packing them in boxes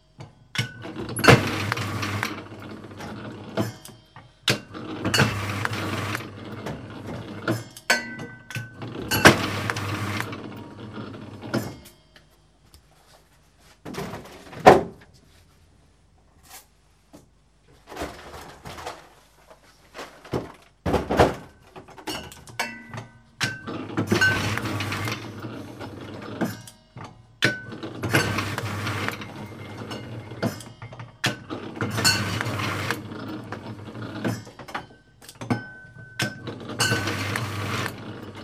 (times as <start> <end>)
16.4 22.3, 27.7 34.4, 35.4 38.4